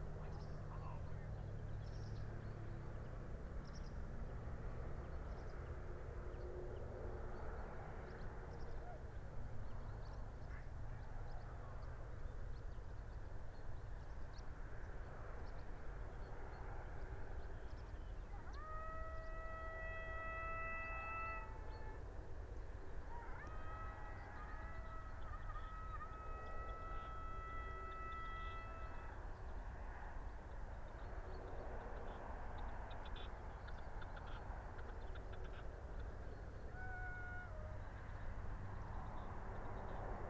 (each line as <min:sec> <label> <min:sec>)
0:18.3 crow 0:22.0
0:23.1 crow 0:29.3